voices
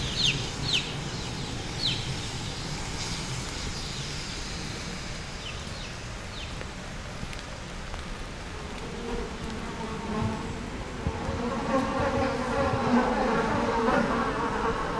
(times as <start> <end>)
8.6 14.9